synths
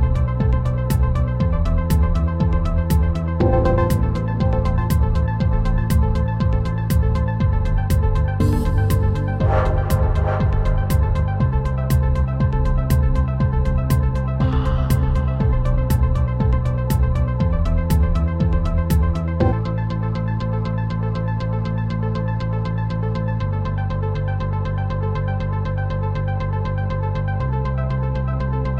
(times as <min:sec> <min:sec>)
0:00.0 0:20.3